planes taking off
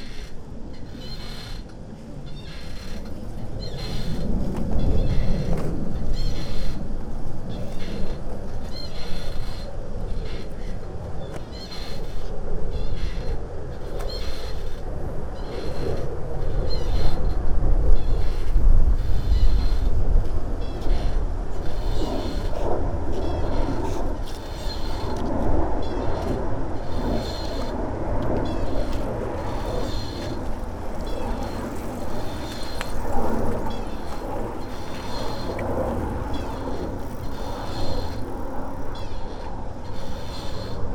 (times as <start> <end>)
14.5 40.9